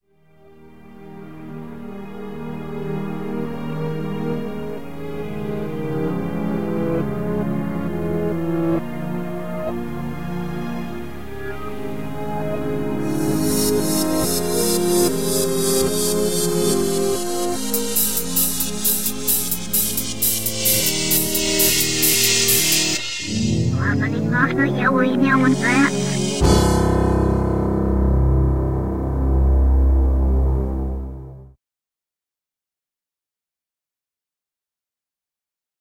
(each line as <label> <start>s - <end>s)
synth 8.4s - 31.4s